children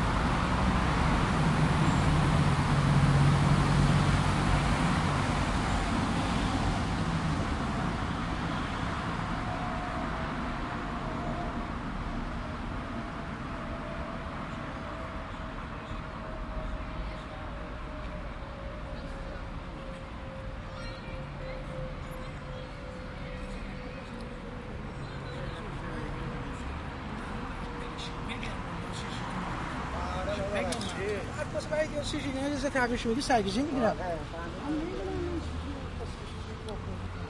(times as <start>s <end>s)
20.0s 25.8s